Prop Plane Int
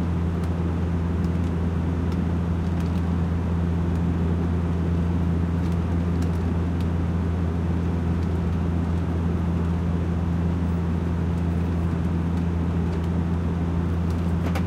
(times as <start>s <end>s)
14.0s 14.6s